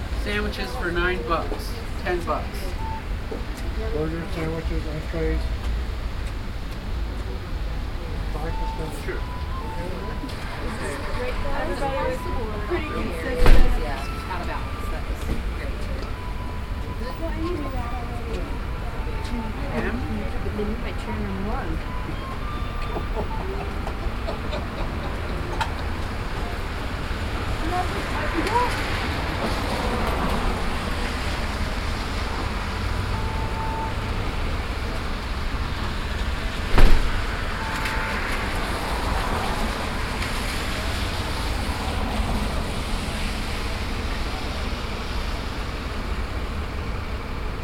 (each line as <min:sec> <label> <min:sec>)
0:00.0 Road traffic 0:47.6
0:08.4 Flute 0:25.6
0:13.4 Door 0:13.8
0:36.7 Door 0:37.2
0:37.5 Flute 0:38.4